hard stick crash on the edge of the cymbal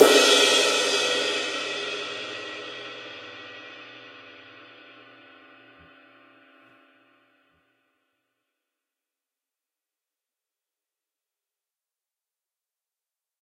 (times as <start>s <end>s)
0.0s 6.4s